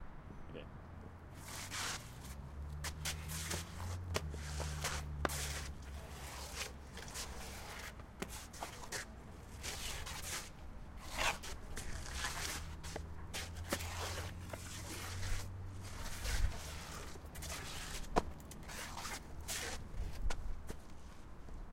people shuffling 1.4 - 21.4

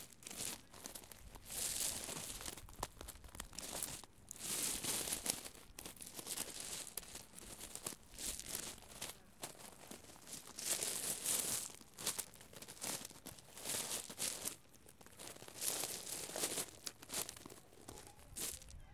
Walking on gravel 0.0 - 18.9

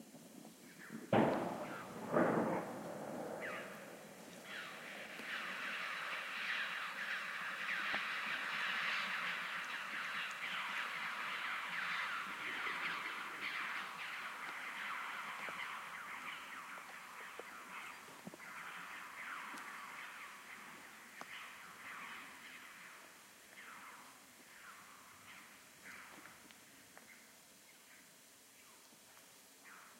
echo 1.1 - 17.9
gunshot 1.2 - 4.8
callings from a group of Red-billed Chough 3.3 - 27.3

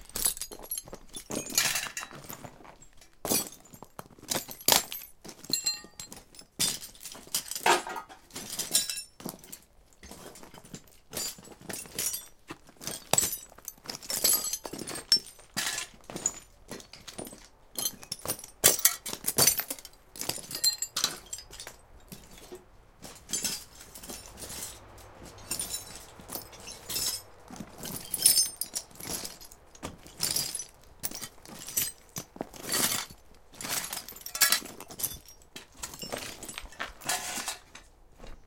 someone walking over the floor of a shed 0.0 - 38.4

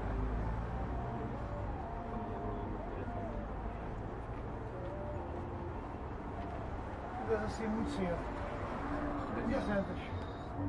street traffic 0.0 - 10.6
people talking chatter portuguese 7.2 - 10.6

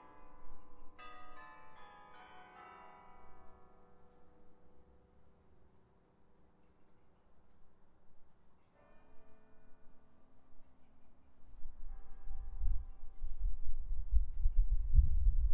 Bells 0.0 - 7.4
Bells 8.5 - 14.0

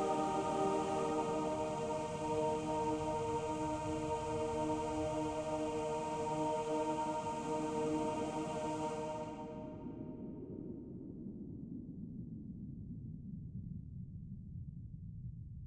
Relaxation music 0.0 - 10.2

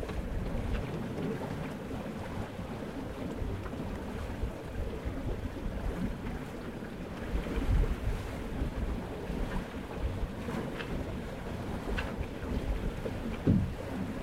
boat is moving through the water 0.0 - 14.2
steady wind 0.0 - 14.2
wind-filled sails 0.0 - 14.2
tugs on line 7.1 - 14.2

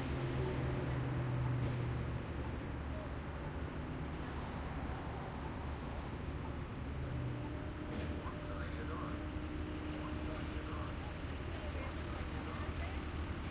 traffic 0.0 - 13.5
People talking 9.9 - 13.2

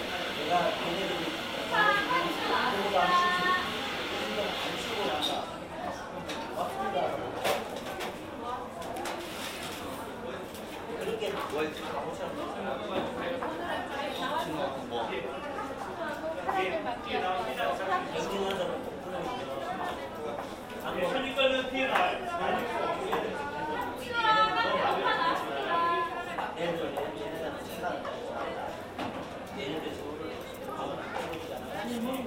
people talking 0.0 - 9.2
espresso making sounds 0.0 - 5.3

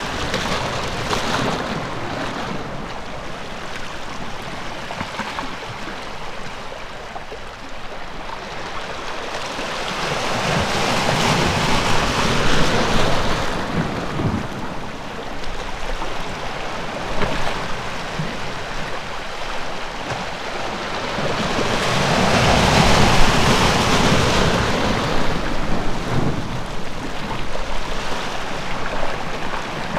waves 0.0 - 29.9

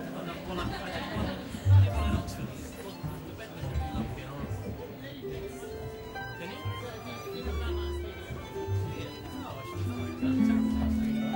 audience 0.0 - 5.1

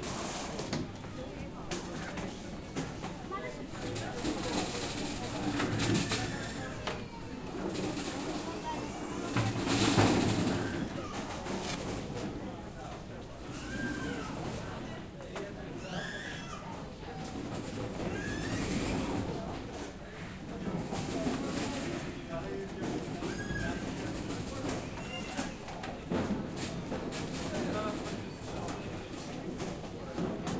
voice 1.1 - 11.4

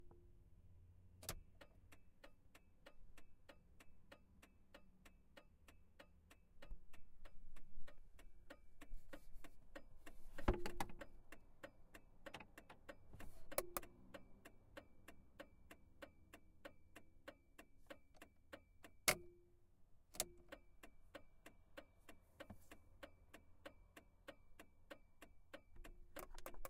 turn signals clicking 1.1 - 26.6

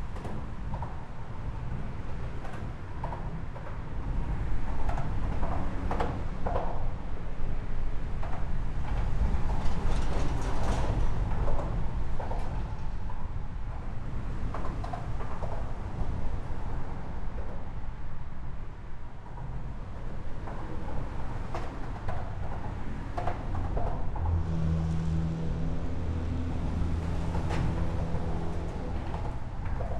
Very Busy Traffic 24.2 - 29.9

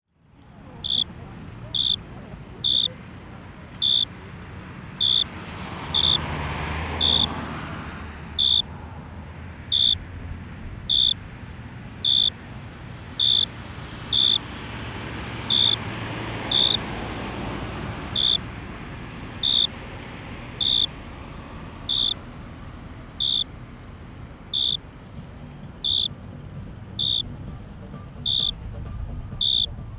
Cars passing by near the park 0.1 - 29.9
cricket 0.8 - 1.1
cricket 1.7 - 3.0
cricket 3.7 - 4.2
cricket 5.0 - 14.5
cricket 15.4 - 16.9
cricket 18.1 - 18.5
cricket 19.4 - 19.8
cricket 20.5 - 27.6
cricket 28.2 - 29.9

